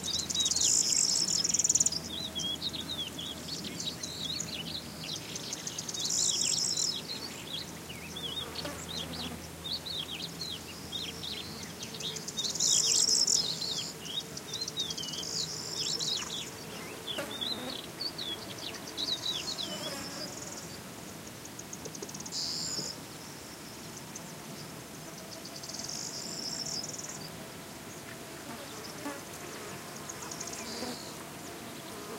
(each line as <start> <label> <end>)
0.0 bee 23.0
11.0 fly 23.0
23.8 fly 32.1
23.8 bee 32.1